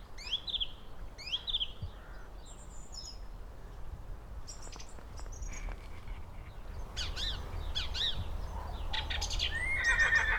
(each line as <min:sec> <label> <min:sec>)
0:00.2 bird singing 0:03.8
0:04.5 bird singing 0:10.3
0:04.5 other animals 0:10.3